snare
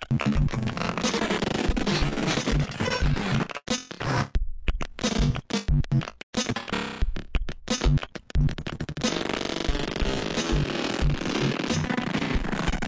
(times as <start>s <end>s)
10.3s 12.4s